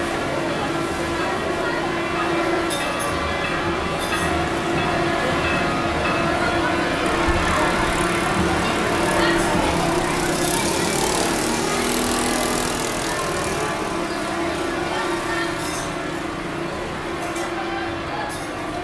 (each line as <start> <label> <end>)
0.0 boats and buses using their horns 17.3
0.7 church bells 11.4
5.6 children playing near the recording, a game with lids 16.3